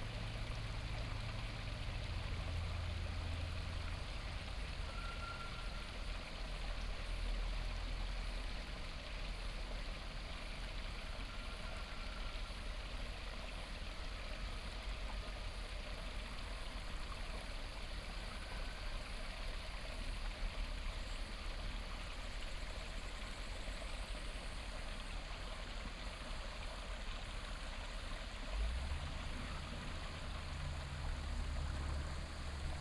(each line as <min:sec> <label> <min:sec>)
0:00.0 stream 0:32.8
0:00.0 truck 0:32.8
0:28.5 Traffic sound 0:32.8